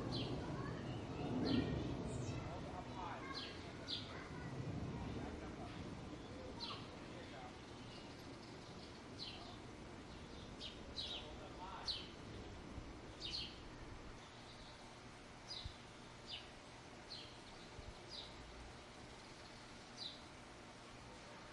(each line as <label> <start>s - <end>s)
children playing 0.0s - 7.4s
airplane passes overhead 0.0s - 14.2s
Birds 0.0s - 21.5s